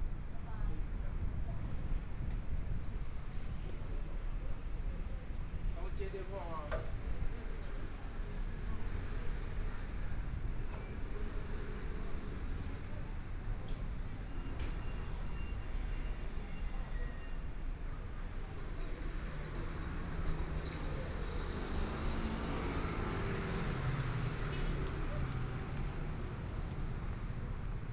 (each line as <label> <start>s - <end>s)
Walking in the small streets 0.0s - 27.9s
Traffic Sound 8.4s - 27.9s